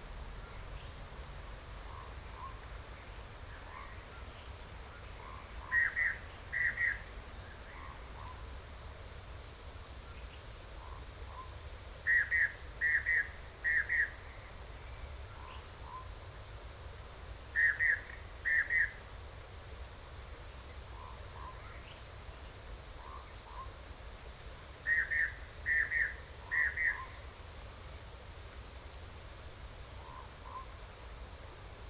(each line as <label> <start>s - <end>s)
Cicadas sound 0.0s - 31.8s